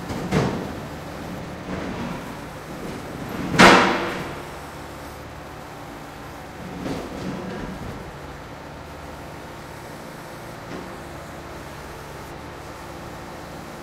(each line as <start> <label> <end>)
0.0 excavator is moving rubble from a container 8.9